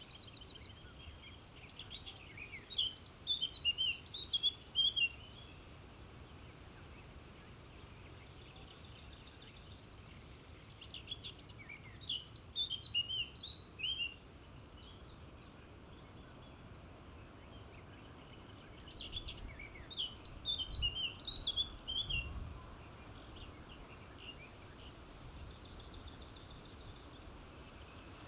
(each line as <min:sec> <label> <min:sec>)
0:00.0 wind in trees 0:28.2